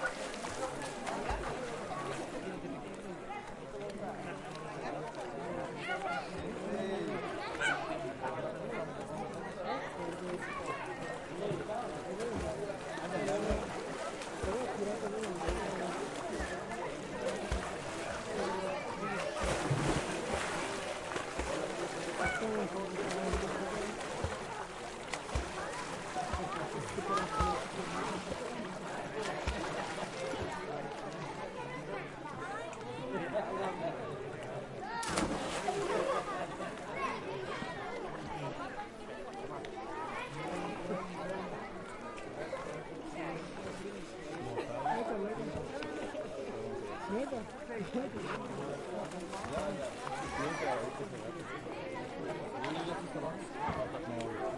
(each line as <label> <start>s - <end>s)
Splash 0.0s - 2.6s
Water 0.0s - 54.5s
Splash 10.3s - 31.4s
People enjoying 10.8s - 31.2s
Splash 34.9s - 36.8s
People enjoying 35.0s - 38.0s
Splash 47.8s - 51.1s